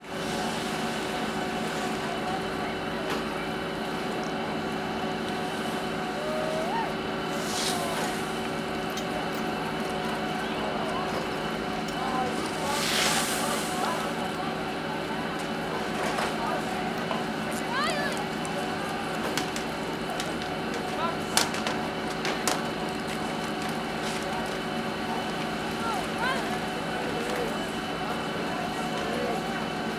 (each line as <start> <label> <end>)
0.2 voices 29.9